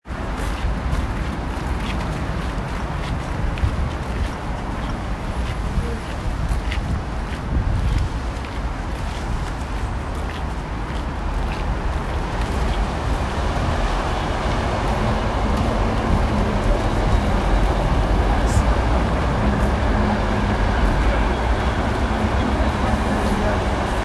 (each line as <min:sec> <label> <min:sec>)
0:00.0 traffic 0:24.0